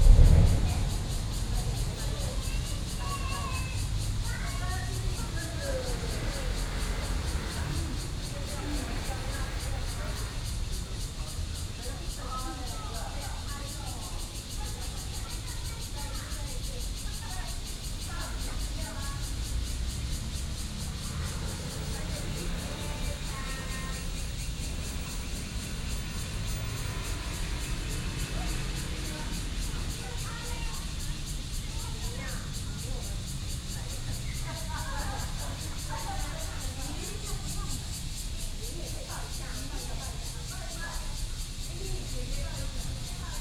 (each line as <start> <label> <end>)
0.0 MRT train passes 43.4
0.0 Cicadas sound 43.4
0.0 Traffic Sound 43.4